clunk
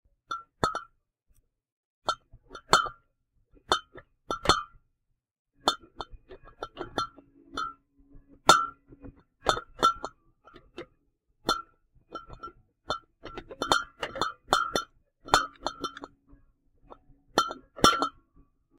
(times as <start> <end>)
16.9 18.2